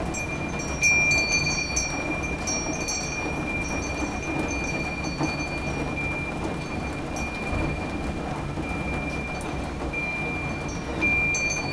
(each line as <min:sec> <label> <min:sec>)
0:00.0 rain in my balcony 0:11.7
0:10.0 happy chimes 0:11.7